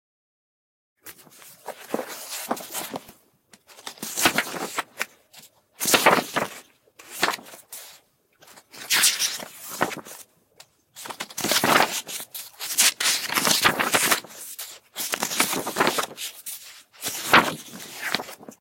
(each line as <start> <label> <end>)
1.0 Scrolling in book 10.2
11.0 Scrolling in book 18.6